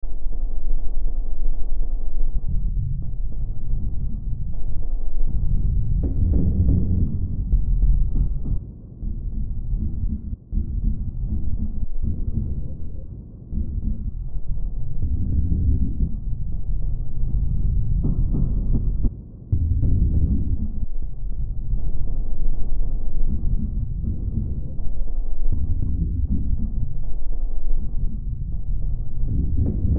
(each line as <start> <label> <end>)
0.0 Drone 29.9